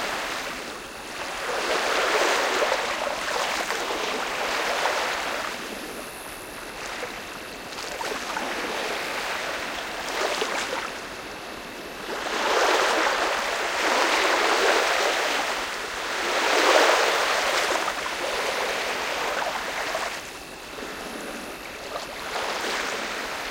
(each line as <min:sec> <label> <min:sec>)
0:00.0 boats on the lake 0:23.5
0:00.0 waves on the shore 0:23.5